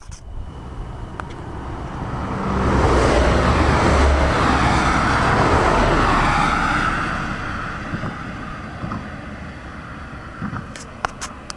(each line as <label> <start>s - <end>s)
cars 0.0s - 11.5s